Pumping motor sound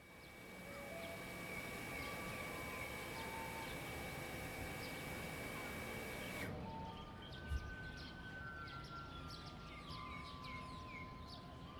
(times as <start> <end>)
0.0 6.5